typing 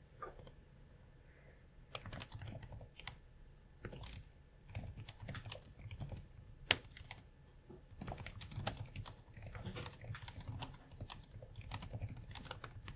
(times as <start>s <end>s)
1.9s 3.2s, 3.8s 7.3s, 7.9s 12.9s